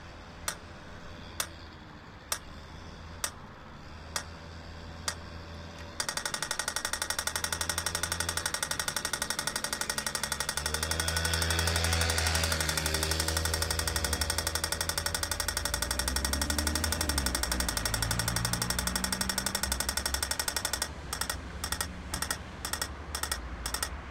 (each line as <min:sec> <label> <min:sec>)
0:05.8 stoplicht blinde tik 0:24.1